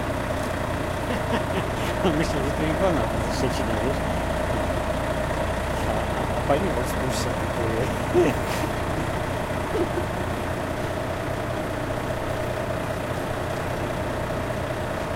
0.0s whirring trucks 15.1s
2.0s talks between truck drivers 4.2s
5.7s talks between truck drivers 8.6s

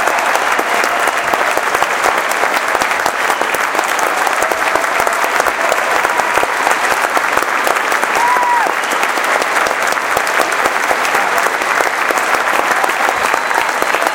0.0s Applause 14.1s
0.0s cheering 14.1s
8.0s whooping 9.2s
12.5s whooping 14.1s

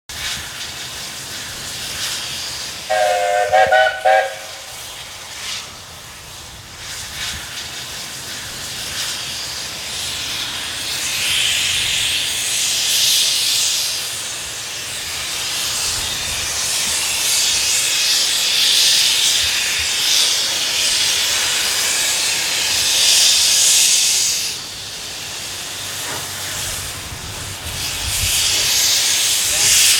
0.1s Steamtrain start and roll past 29.9s
2.9s Trainwhistle 4.8s

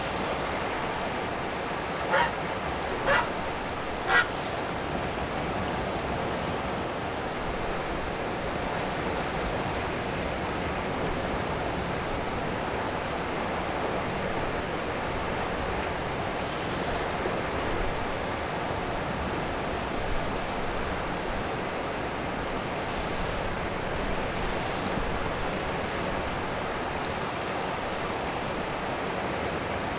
0.0s rushing water 29.9s
0.0s wind 29.9s
0.9s heron 4.7s

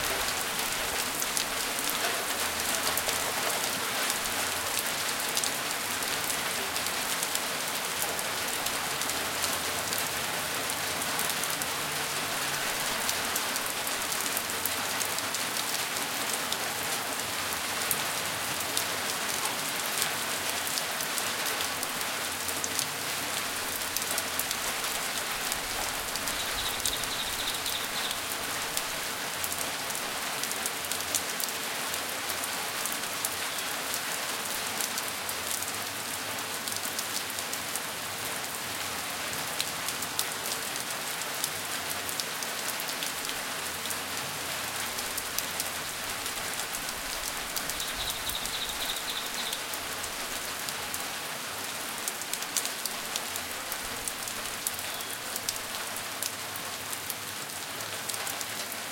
0.0s Rain, sheet roof 58.9s
0.0s water stream hitting a concrete sidewalk and the sheet roof 58.9s
26.2s birds singing occasionally 28.4s
47.6s birds singing occasionally 49.8s
54.8s birds singing occasionally 55.2s

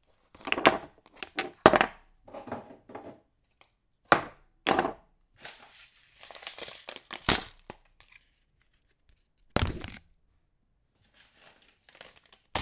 0.3s Placing jars and food packets on the kitchen counter 3.3s

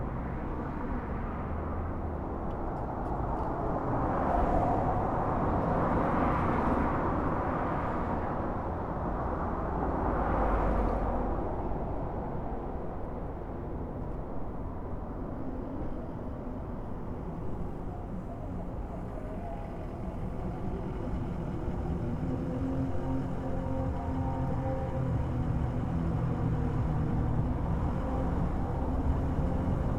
0.0s City Traffic 29.9s
15.8s Motorcycle 29.9s

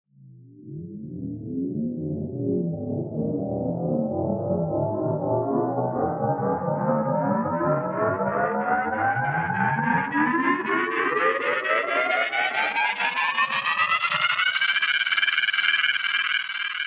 5.9s Aquatic Riser/Powerup 15.0s

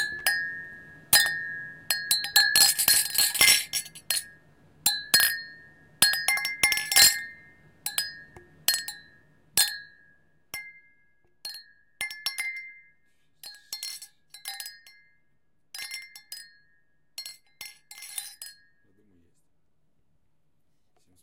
0.0s CLINK GLASSES 10.8s
11.5s CLINK GLASSES 12.8s
13.4s CLINK GLASSES 15.1s
15.8s CLINK GLASSES 18.8s

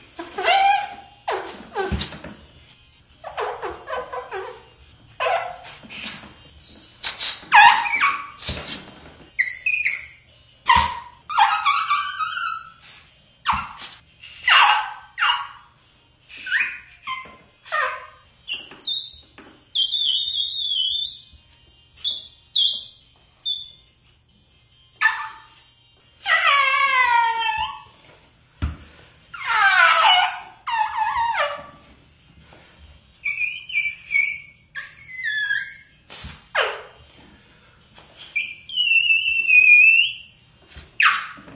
5.3s bike pump 9.0s

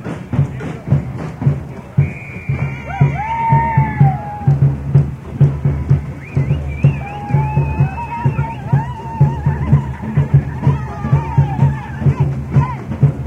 0.0s amateur samba band plays in the street 13.2s
0.0s spectators 13.2s

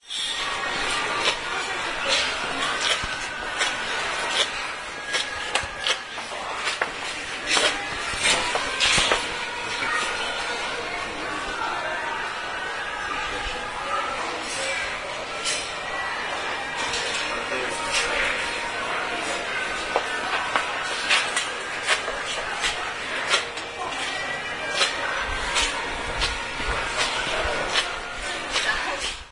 0.0s crowd 29.3s
0.2s steps 10.6s

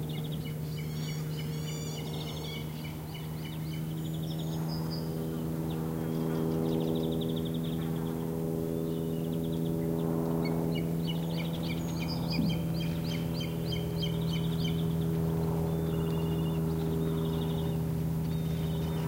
0.0s airplane passing by 19.0s
0.0s bird calls 8.1s
8.8s bird calls 19.0s

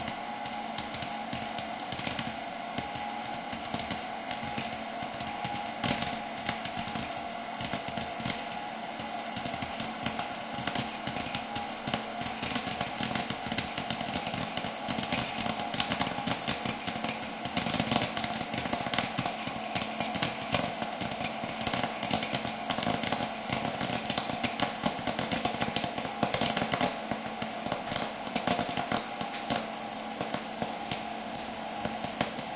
0.0s fan 32.5s
0.0s pop corn 32.5s
0.0s popcorn is poured into the popper 32.5s

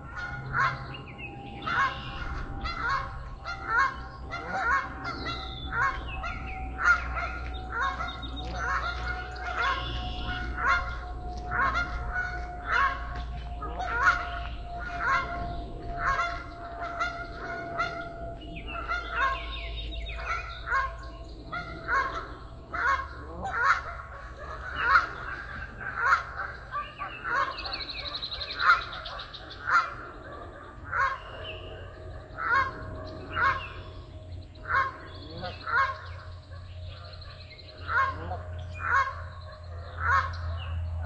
0.0s people walking by 20.9s
0.0s Canada Geese honking very loudly 41.0s
0.0s airplane 41.0s
0.0s other birds 41.0s

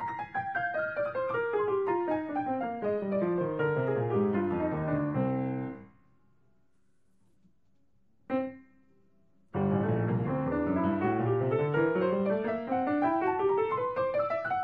0.0s Piano 6.2s
8.3s Piano 14.6s

